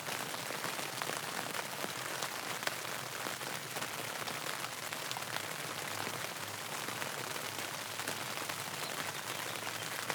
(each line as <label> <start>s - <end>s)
Rain under the tent canopy 0.0s - 10.1s